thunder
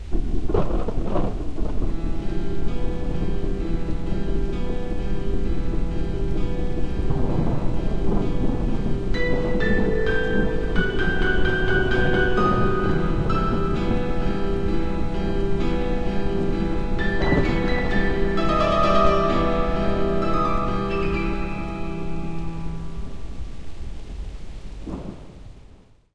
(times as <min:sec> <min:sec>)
0:00.0 0:02.0, 0:06.7 0:14.8, 0:16.4 0:21.4, 0:24.8 0:26.0